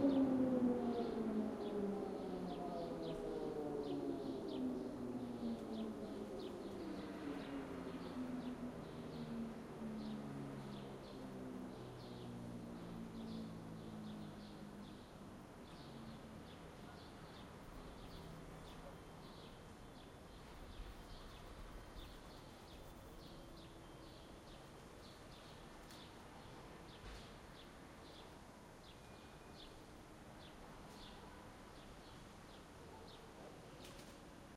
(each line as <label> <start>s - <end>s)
air raid siren test 0.0s - 7.5s